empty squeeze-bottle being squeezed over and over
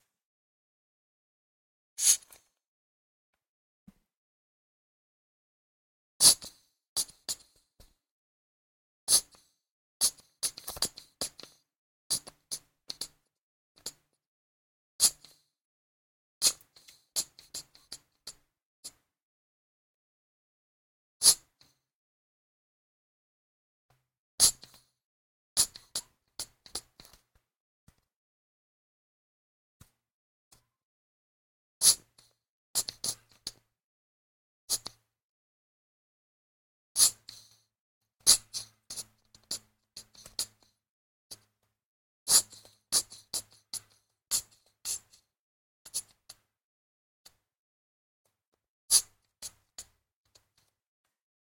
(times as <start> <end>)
2.0 2.4, 38.3 40.7, 42.3 45.2